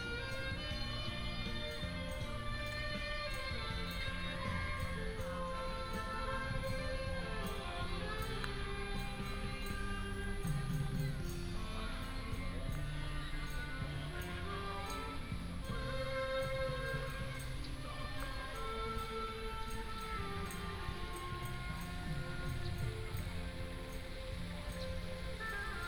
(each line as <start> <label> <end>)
0.0 Saxophone show 25.8
0.0 Walking in the park 25.8
0.0 fountain 25.8